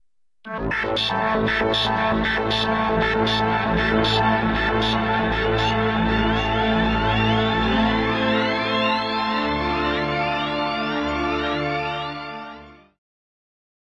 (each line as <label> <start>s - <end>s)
echo space sounds 0.5s - 10.9s